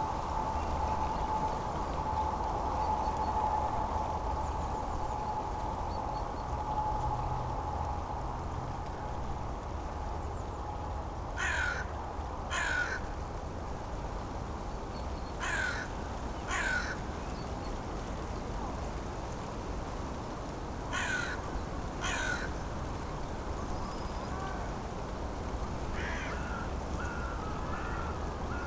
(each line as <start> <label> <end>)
21.0 dry leaves rattling 21.4
22.0 dry leaves rattling 22.4